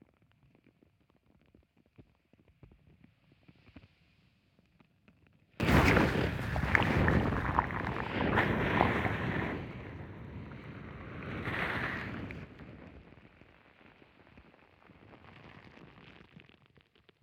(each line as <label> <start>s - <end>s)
Waves 5.6s - 12.6s
micro contacts being carried in the waves and in the sand 5.6s - 13.0s